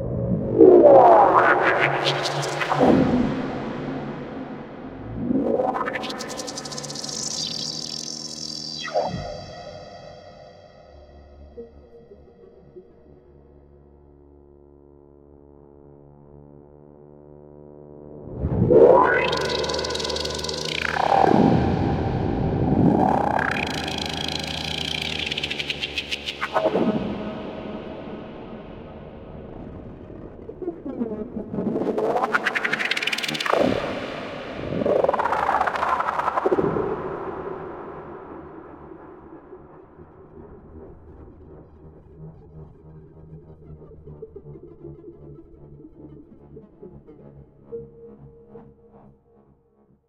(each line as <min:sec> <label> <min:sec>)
0:00.0 drone 0:16.9
0:18.0 drone 0:44.4